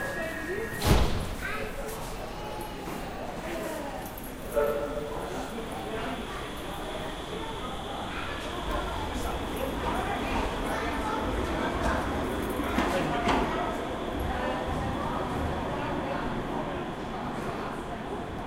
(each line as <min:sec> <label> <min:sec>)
0:01.7 tram approaches and leaves 0:18.4